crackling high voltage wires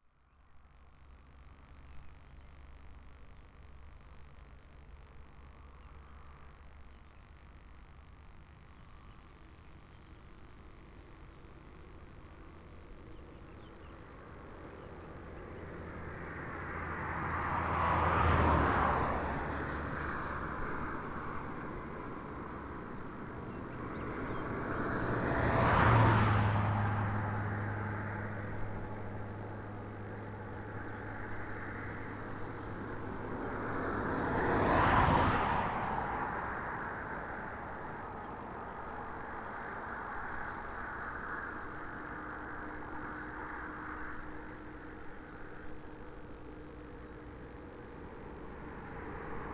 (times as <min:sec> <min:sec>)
0:00.5 0:16.1, 0:36.4 0:49.5